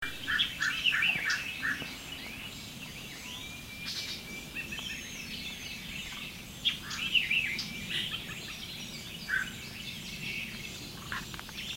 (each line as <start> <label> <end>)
0.0 birds 11.7